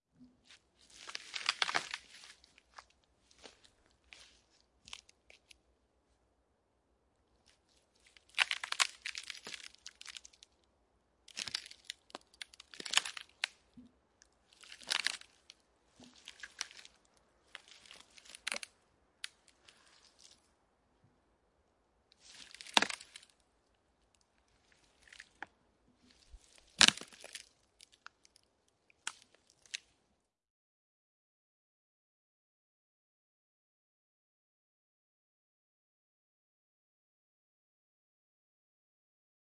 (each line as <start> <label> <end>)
0.8 tree bark stepping cracking 5.6
8.1 tree bark stepping cracking 10.5
11.3 tree bark stepping cracking 13.6
14.5 tree bark stepping cracking 20.4
22.2 tree bark stepping cracking 23.4
24.6 tree bark stepping cracking 25.5
26.1 tree bark stepping cracking 29.9